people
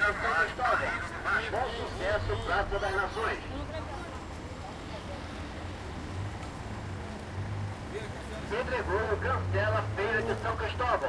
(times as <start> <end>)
0.0 6.4